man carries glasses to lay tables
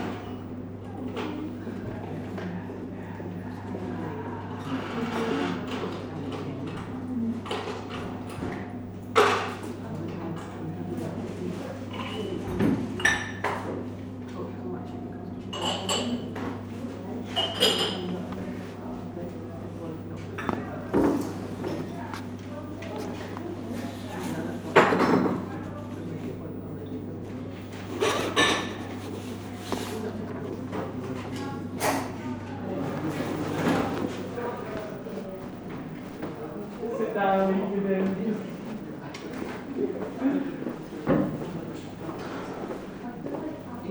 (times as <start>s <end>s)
20.2s 24.0s, 27.8s 31.3s